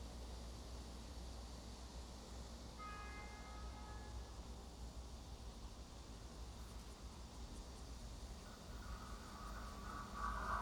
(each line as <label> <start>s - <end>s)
The train runs through 2.8s - 10.6s